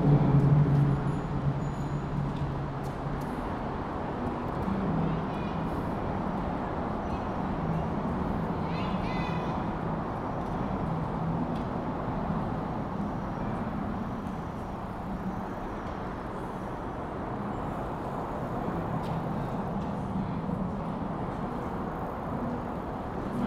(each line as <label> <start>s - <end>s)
large groups of cyclists are passing by 0.0s - 23.4s
traffic passing overhead 0.0s - 23.4s